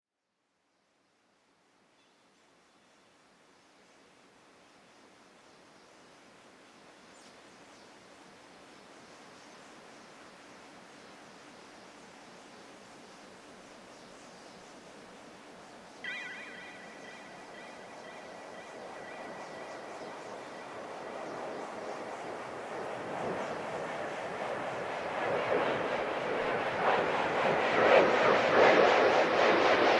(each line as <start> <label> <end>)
16.0 Windchimes 21.0
16.1 passing commercial jet 29.9